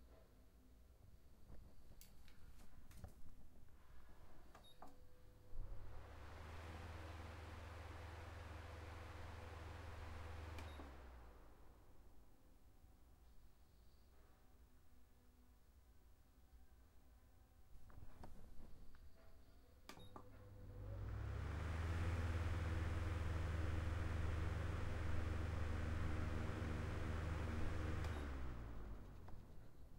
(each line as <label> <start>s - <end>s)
Electric Fan 4.0s - 12.4s
Electric Fan 19.9s - 29.9s